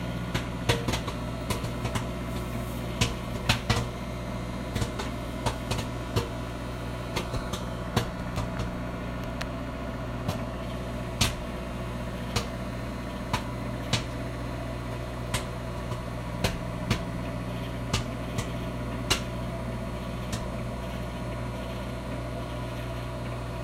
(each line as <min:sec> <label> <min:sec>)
0:00.0 microwave popcorn cycle 0:23.6
0:14.9 microwave buttons 0:19.6